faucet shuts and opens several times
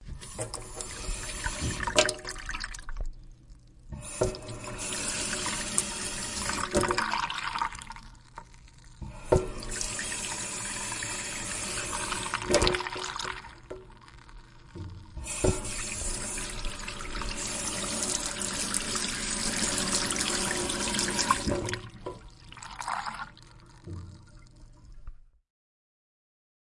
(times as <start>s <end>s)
0.0s 2.4s, 3.9s 7.2s, 9.0s 14.0s, 14.6s 22.4s, 23.8s 25.2s